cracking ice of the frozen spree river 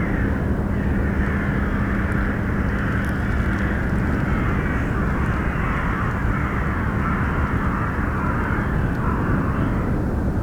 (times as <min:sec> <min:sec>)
0:01.8 0:06.5